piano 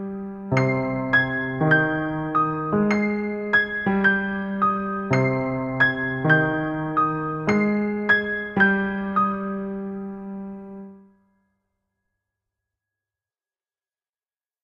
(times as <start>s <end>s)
0.0s 11.4s